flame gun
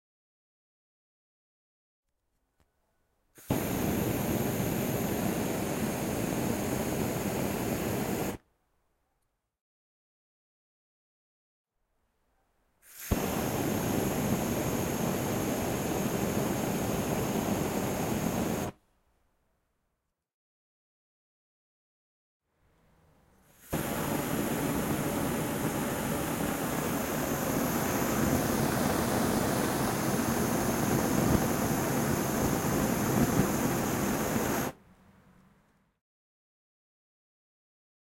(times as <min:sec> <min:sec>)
0:03.4 0:08.4, 0:12.9 0:18.8, 0:23.6 0:34.8